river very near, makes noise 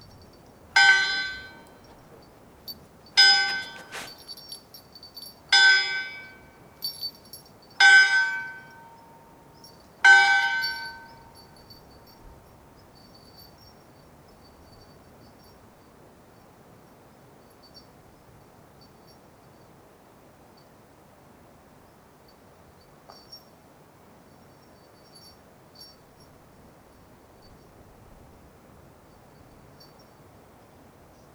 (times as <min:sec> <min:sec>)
0:00.1 0:07.3